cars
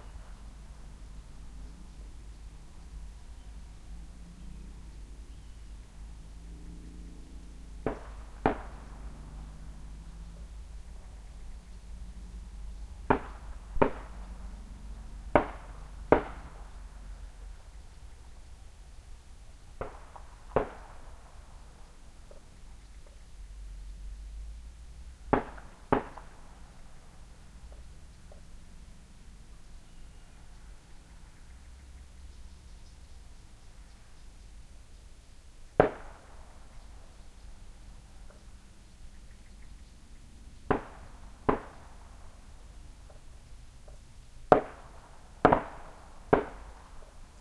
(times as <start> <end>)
0.0 35.7